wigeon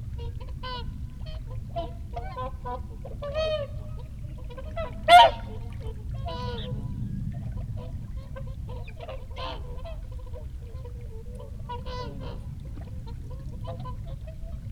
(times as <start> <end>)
5.1 5.6